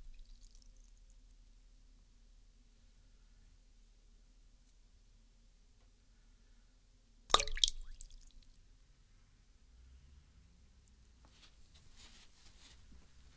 wedding ring drop at water 0:07.3 - 0:08.4

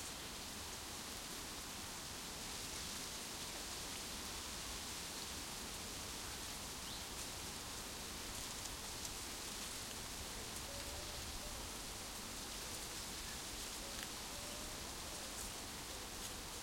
dry leaves rustling in a tree 0:00.0 - 0:16.6

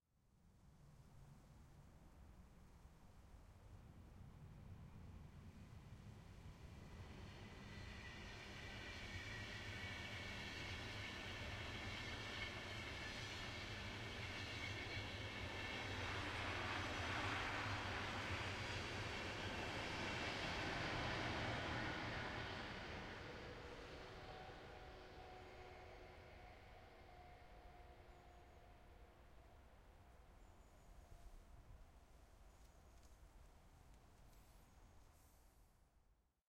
Distant Train Passing 0:04.9 - 0:33.4

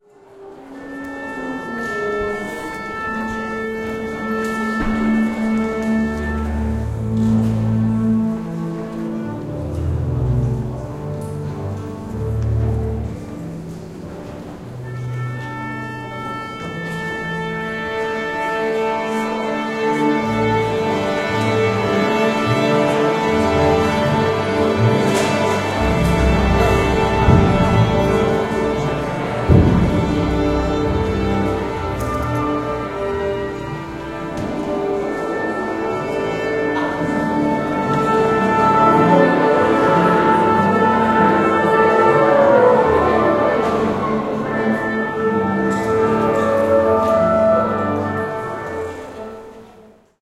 strings 0:00.0 - 0:50.2
doublebass 0:02.8 - 0:49.2

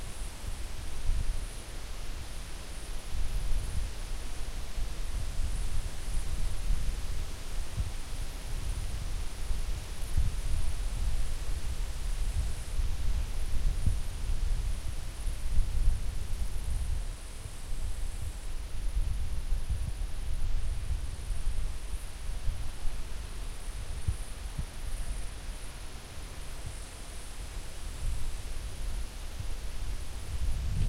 forest wind 0:00.0 - 0:30.8

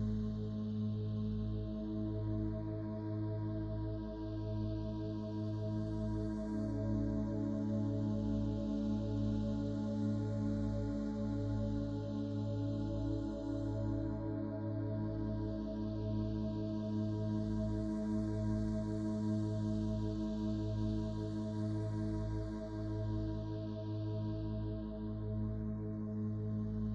synthesizer 0:00.0 - 0:26.9

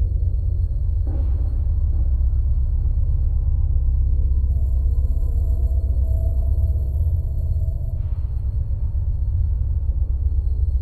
rumble 0:00.0 - 0:10.8

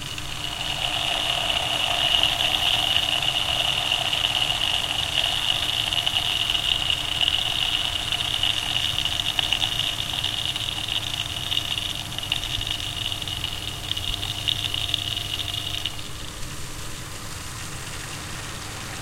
Pressure Meter Pipe Noises 0:00.0 - 0:16.0

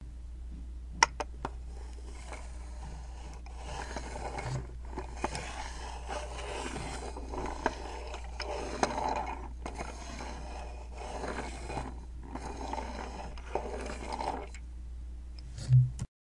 Matchbox car 0:01.7 - 0:14.6

